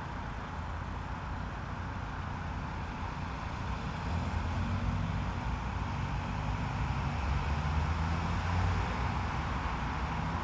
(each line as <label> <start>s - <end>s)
traffic 0.0s - 10.4s